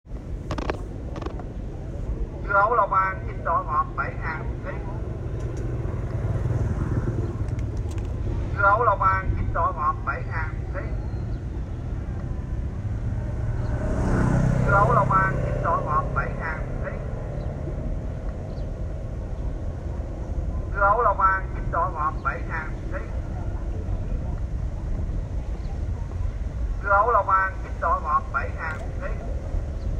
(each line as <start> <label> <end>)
2.3 Man sell water melon 5.1
14.2 Man sell water melon 17.9
20.5 Man sell water melon 24.3
26.7 Man sell water melon 29.4